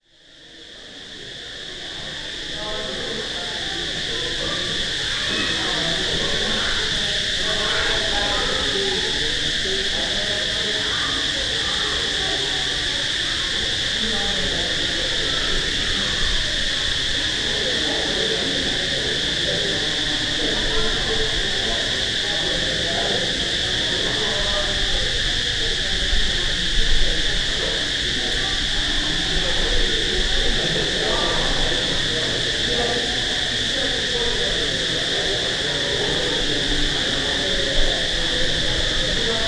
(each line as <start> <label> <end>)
0.0 Crickets 39.4